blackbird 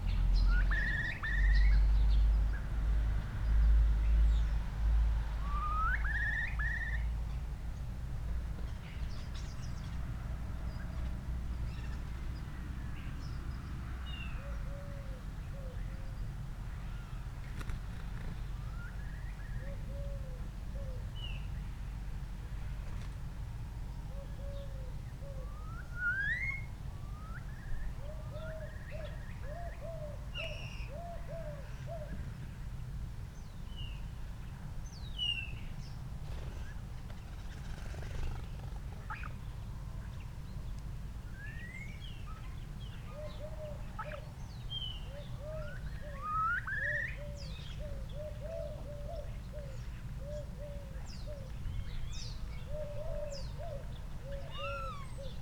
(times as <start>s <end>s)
41.4s 55.4s